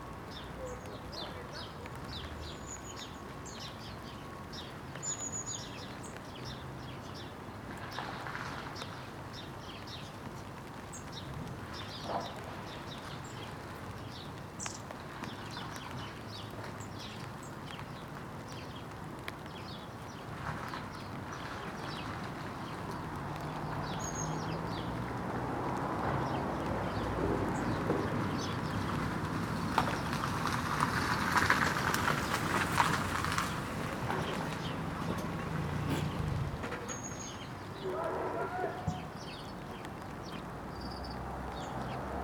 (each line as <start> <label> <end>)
0.0 rain begins 42.2
0.3 chat of sparrows 3.1
34.1 chat of sparrows 41.0
37.8 workmen shout 39.0